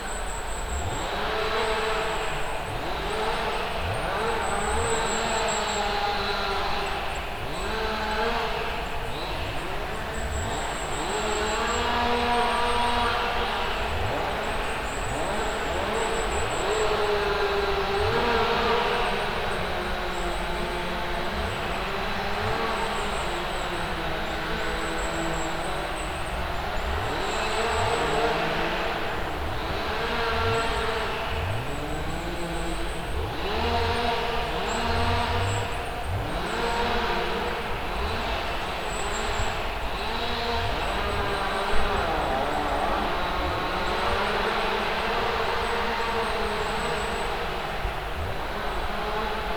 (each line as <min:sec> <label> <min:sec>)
0:00.2 mechanical woodcutters chorus 0:49.5